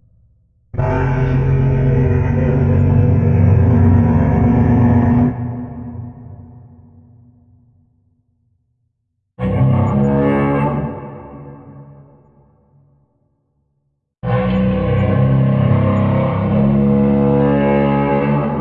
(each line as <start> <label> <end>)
0.8 Large Creature Vocals 7.1